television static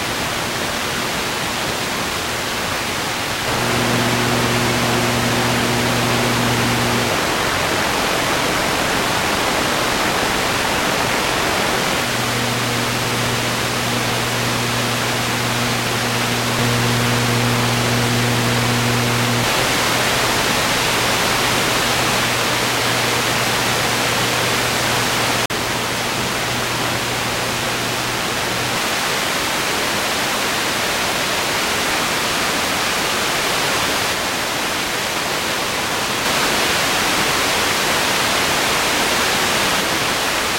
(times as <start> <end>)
3.1 29.9, 36.2 40.3